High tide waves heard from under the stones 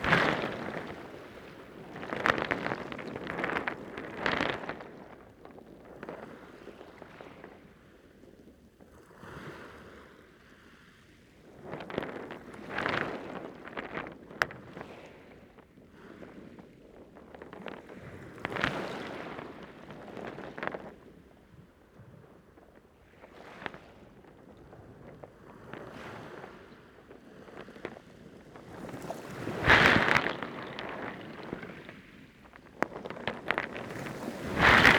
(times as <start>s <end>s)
0.0s 4.9s, 28.8s 34.9s